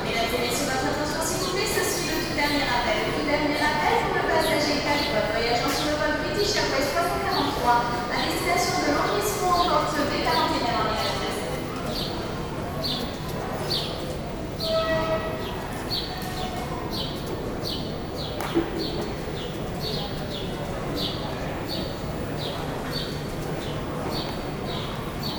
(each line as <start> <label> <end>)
0.0 announcements 25.3
0.0 people 25.3
15.4 tweeting small birds 25.3